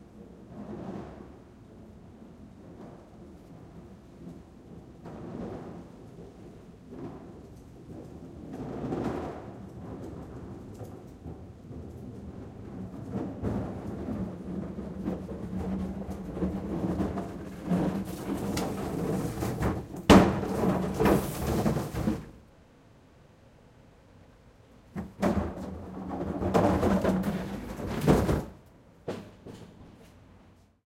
8.8s Recycle plastic blue trash bin pulling dragging 22.4s
25.0s Recycle plastic blue trash bin pulling dragging 29.8s

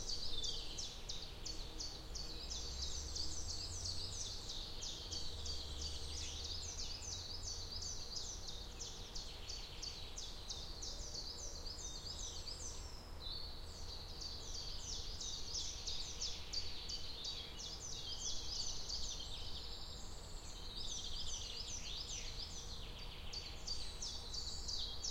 0.0s birdsong 25.1s

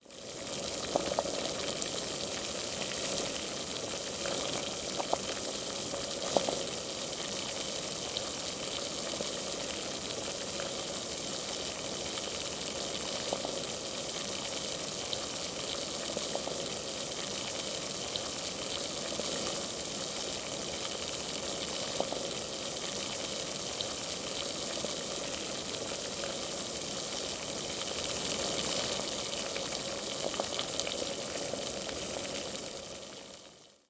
0.0s Boiling water 33.8s

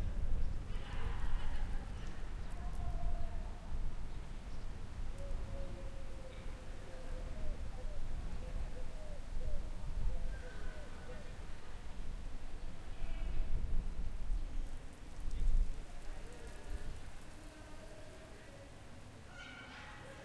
15.0s Humans 20.2s

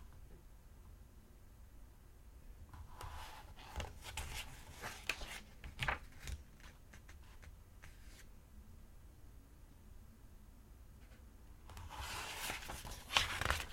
2.8s Flipping and turning pages of a book 8.3s
11.0s Flipping and turning pages of a book 13.7s

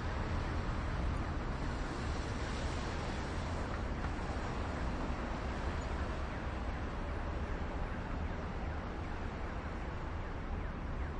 0.0s medium velocity cars 11.1s
5.6s siren 11.1s

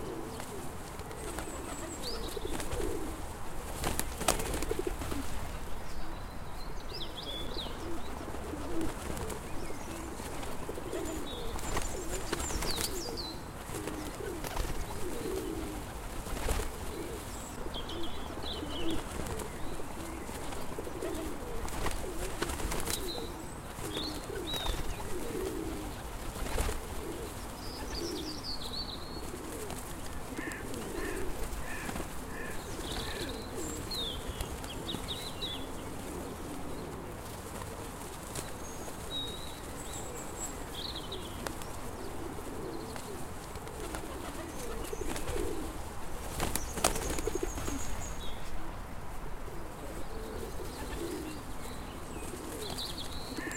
0.0s pigeons cooing 5.6s
0.0s quiet birdsong 53.5s
7.3s pigeons cooing 48.7s
49.5s pigeons cooing 53.5s

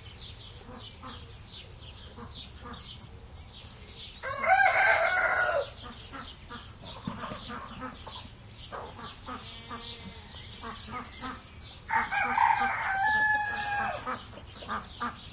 0.0s birds 15.3s
4.2s rooster 5.9s
4.2s chicken 15.3s
11.9s rooster 14.8s

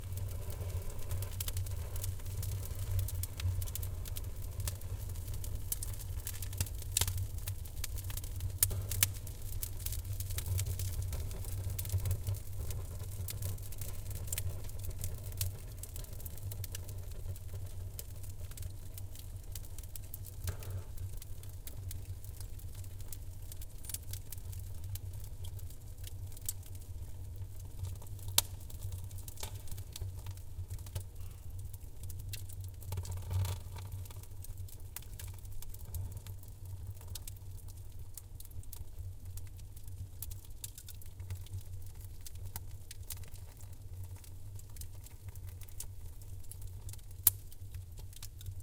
0.0s fire 48.6s

